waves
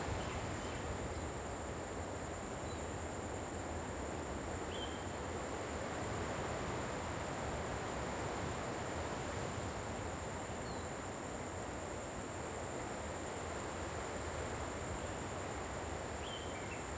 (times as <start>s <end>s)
5.2s 16.2s